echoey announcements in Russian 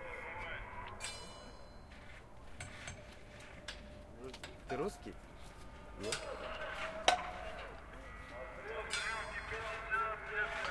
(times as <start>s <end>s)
0.0s 1.6s, 5.9s 10.7s